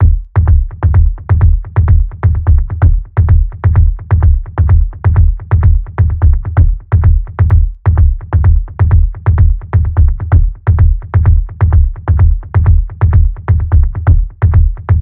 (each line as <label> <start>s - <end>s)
low end bass kick loops 0.0s - 15.0s